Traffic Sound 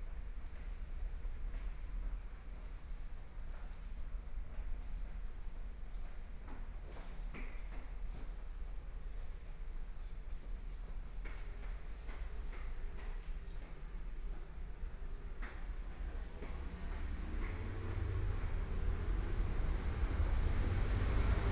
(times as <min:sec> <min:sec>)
0:15.7 0:21.5